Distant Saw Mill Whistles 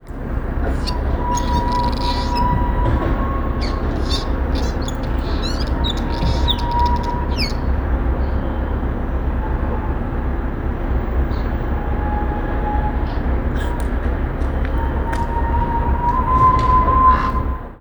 0.5s 7.7s

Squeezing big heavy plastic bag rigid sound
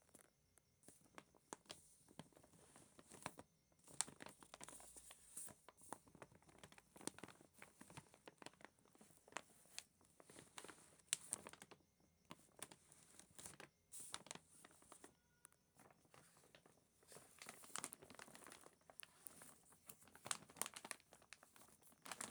17.2s 19.4s, 20.1s 21.4s, 22.0s 22.3s

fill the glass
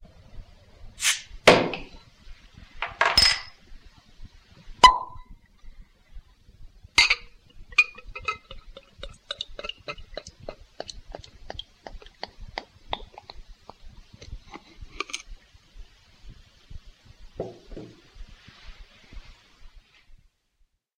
7.0s 10.6s

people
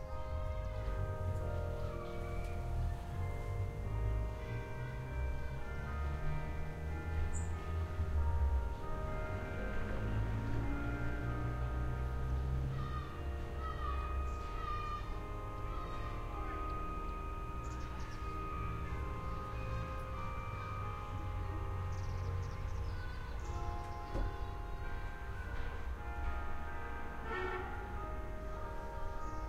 12.5s 26.4s

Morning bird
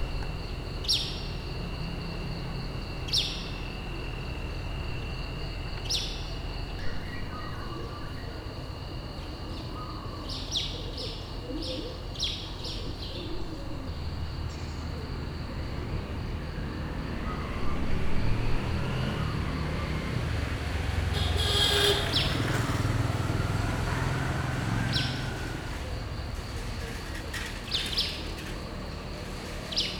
16.9s 26.2s

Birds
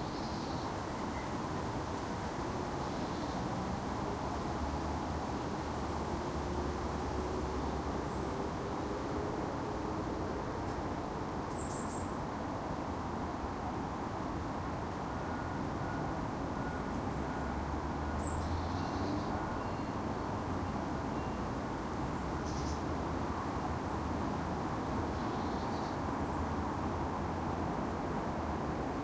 22.1s 22.9s

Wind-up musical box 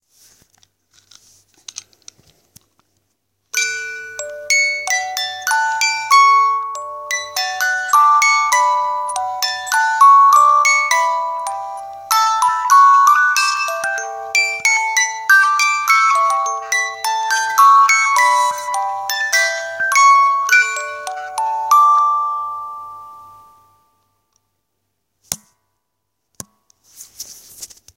3.6s 23.7s

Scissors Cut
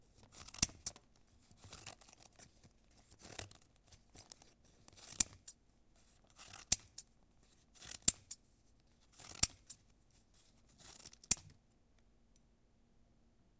6.3s 7.0s, 7.8s 8.4s, 9.1s 9.8s, 10.8s 11.5s

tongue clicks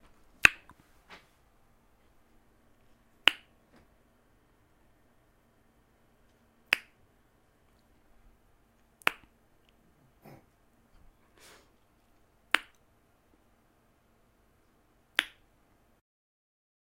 6.7s 7.0s, 9.0s 9.8s, 12.5s 12.8s, 15.2s 15.4s

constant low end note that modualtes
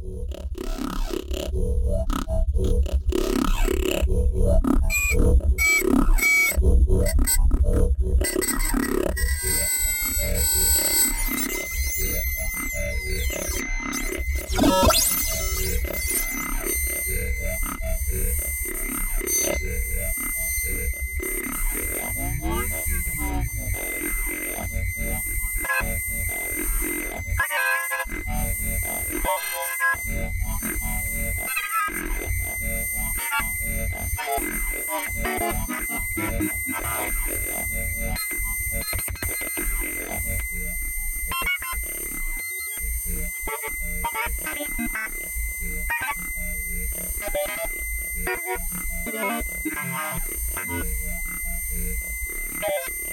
0.0s 27.4s

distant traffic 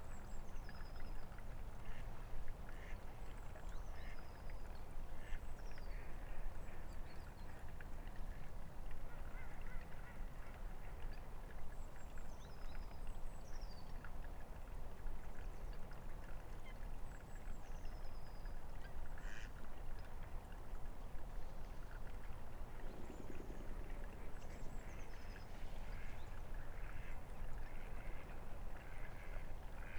20.0s 29.9s

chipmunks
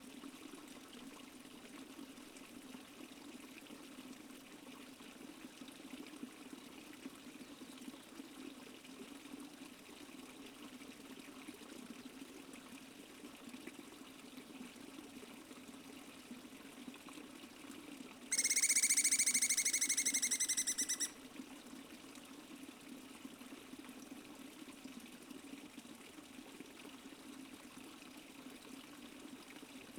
18.3s 21.2s

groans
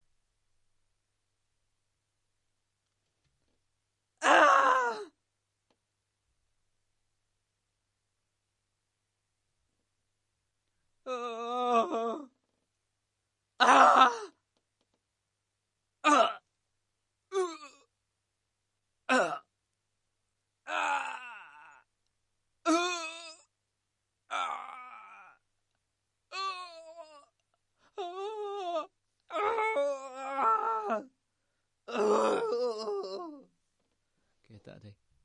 4.2s 5.1s, 11.1s 12.3s, 13.6s 14.4s, 16.0s 16.4s, 17.3s 17.9s, 19.1s 19.5s, 20.7s 21.9s, 22.7s 23.5s, 24.3s 25.4s, 26.3s 31.1s, 31.9s 33.5s

